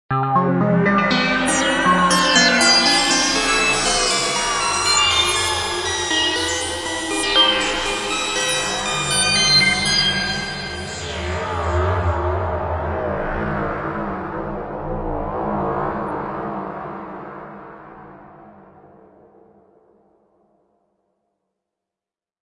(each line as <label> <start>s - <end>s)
bleep 1.4s - 11.7s